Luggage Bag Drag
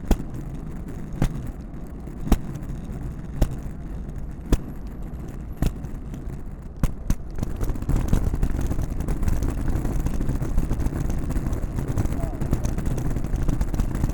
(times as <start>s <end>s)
6.8s 14.1s